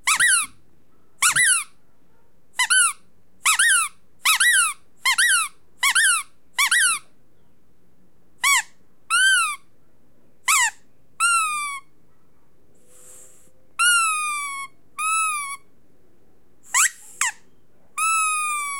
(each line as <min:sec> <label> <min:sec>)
0:00.0 rubber squeaky toy being squeezed 0:00.6
0:01.2 rubber squeaky toy being squeezed 0:01.8
0:02.6 rubber squeaky toy being squeezed 0:07.1
0:08.4 rubber squeaky toy being squeezed 0:09.7
0:10.5 rubber squeaky toy being squeezed 0:11.9
0:13.8 rubber squeaky toy being squeezed 0:15.7
0:16.7 rubber squeaky toy being squeezed 0:17.4
0:18.0 rubber squeaky toy being squeezed 0:18.7